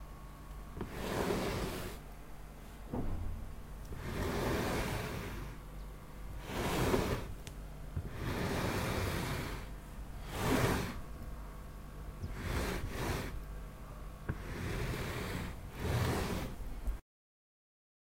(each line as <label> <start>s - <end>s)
large armchair sliding across a wooden floor 0.8s - 2.1s
large armchair sliding across a wooden floor 3.8s - 5.6s
large armchair sliding across a wooden floor 6.3s - 7.4s
large armchair sliding across a wooden floor 8.0s - 11.2s
large armchair sliding across a wooden floor 12.2s - 13.4s
large armchair sliding across a wooden floor 14.2s - 16.8s